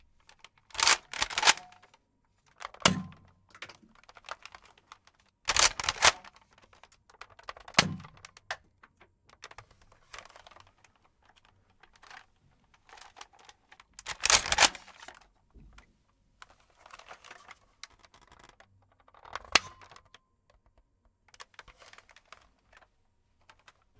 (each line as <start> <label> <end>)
0.8 Reload 1.7
5.5 Reload 6.2
14.1 Reload 14.9